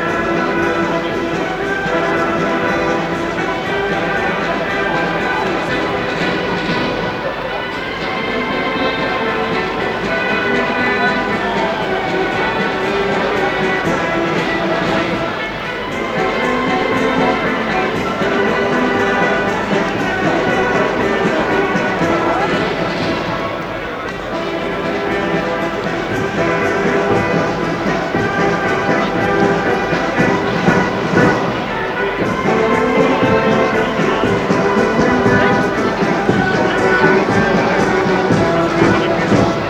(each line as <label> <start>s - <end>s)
music 0.0s - 39.6s
speech 0.0s - 39.6s